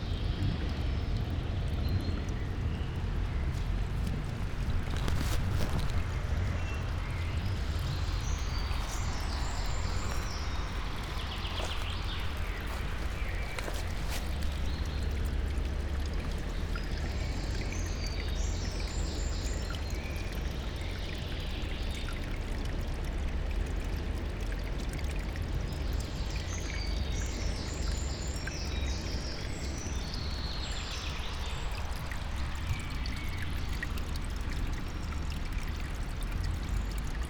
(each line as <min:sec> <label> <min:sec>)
0:00.0 tiny streams of water flows into the river 0:37.2